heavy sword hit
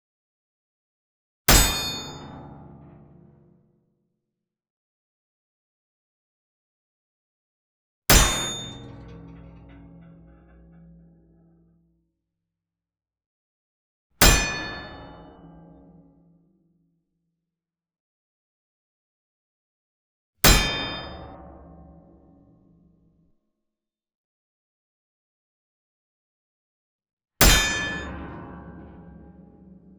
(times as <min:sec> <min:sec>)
0:08.1 0:11.3